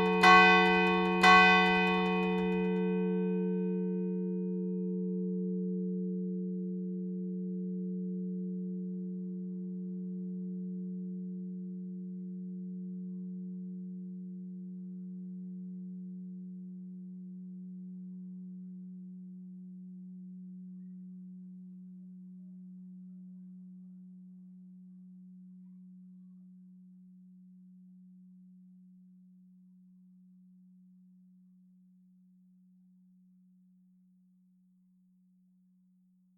L'Angélus - Tintement 0.0 - 2.8

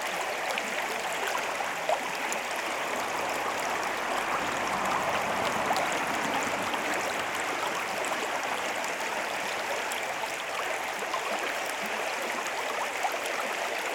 riverflow 0.0 - 13.9
occasional car hums above 2.4 - 9.5

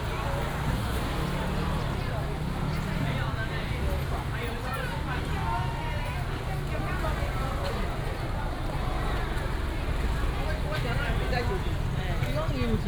Many motorcycles 0.0 - 12.8
Walking through the traditional market 0.0 - 12.8

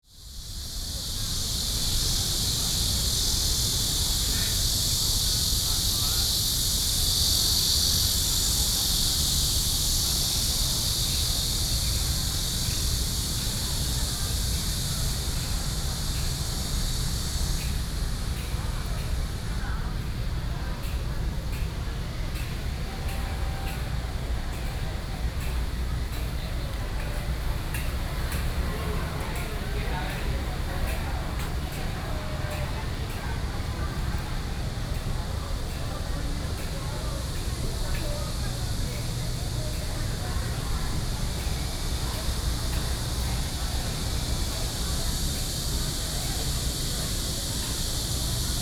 Cicadas cry 0.0 - 48.6

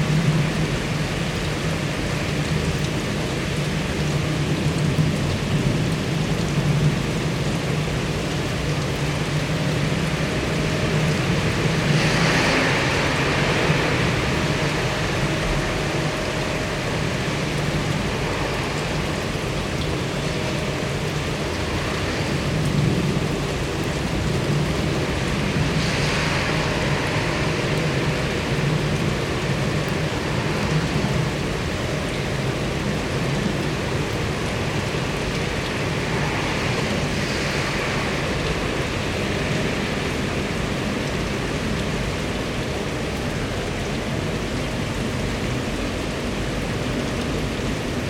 rain 0.0 - 48.0

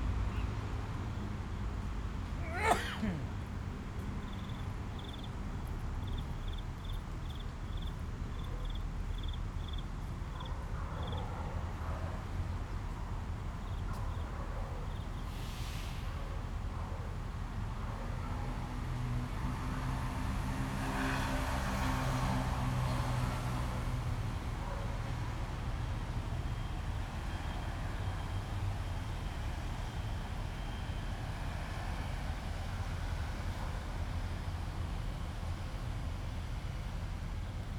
MRT trains through 11.1 - 37.7

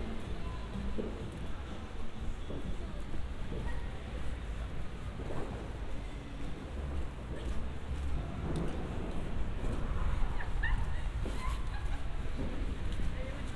few people in the streets 0.0 - 13.5

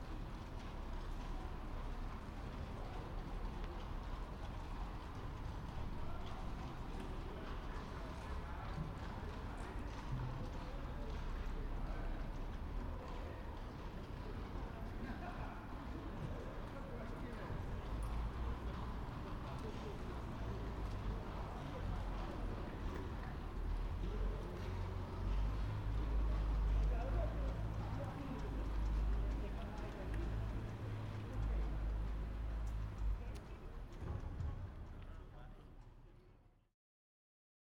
Horse-drawn carriages 0.0 - 36.4

